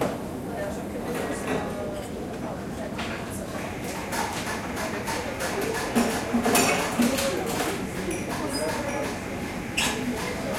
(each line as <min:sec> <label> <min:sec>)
0:00.4 people talking 0:10.5